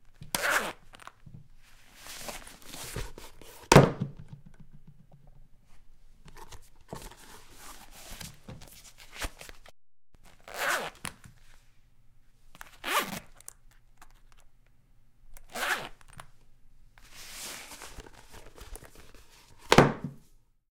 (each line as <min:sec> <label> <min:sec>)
0:00.3 unzip leather boots 0:01.1
0:10.3 unzip leather boots 0:11.1
0:12.7 unzip leather boots 0:13.3
0:15.5 unzip leather boots 0:16.0